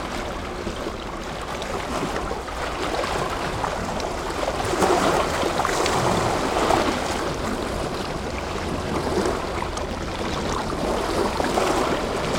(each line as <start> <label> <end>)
0.0 Waves crashing against a rocky shoreline 12.3